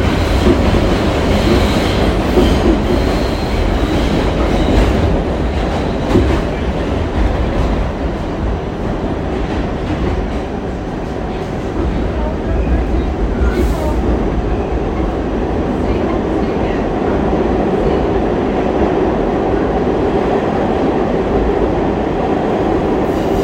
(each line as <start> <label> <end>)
0.0 Subway train 23.4
10.9 people chatter 21.2